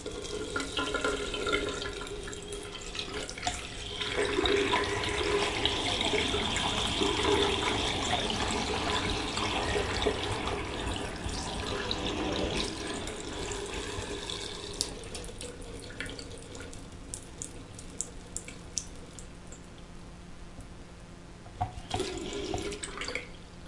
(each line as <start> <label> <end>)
0.0 sink being filled and emptied 19.4
14.8 drip 19.8
21.6 sink being filled and emptied 23.4